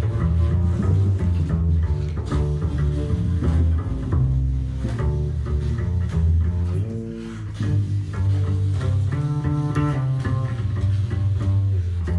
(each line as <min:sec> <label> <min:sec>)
0:00.0 bass 0:12.1
0:00.0 sax 0:12.1